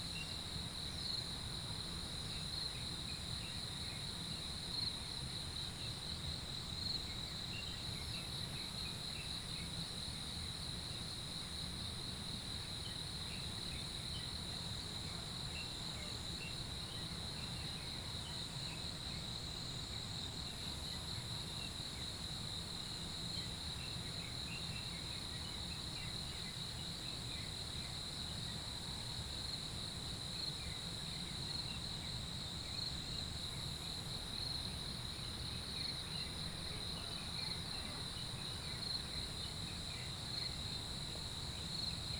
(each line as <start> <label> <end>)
30.4 Insects sounds 42.1